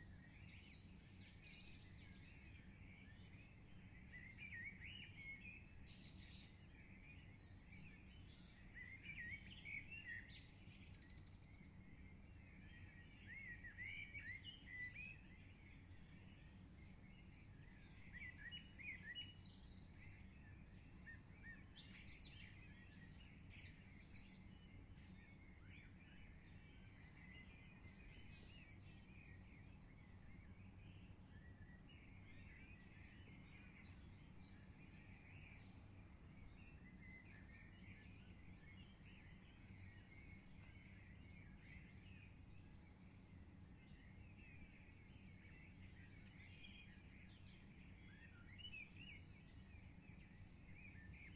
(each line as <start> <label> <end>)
0.0 singing Birds 51.3